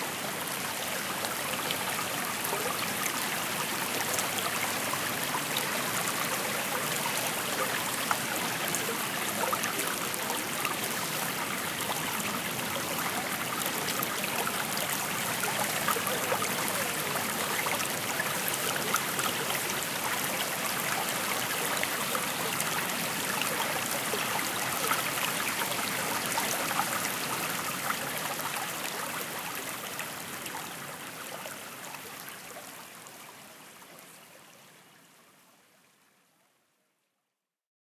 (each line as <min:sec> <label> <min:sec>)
0:00.0 light stream with close up bubbling 0:37.0